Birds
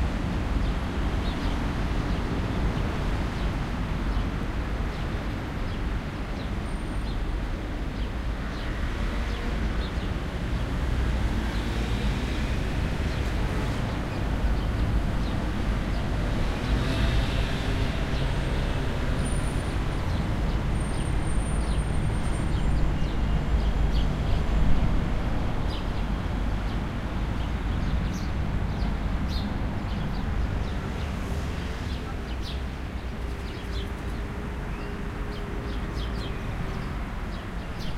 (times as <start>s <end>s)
25.6s 37.9s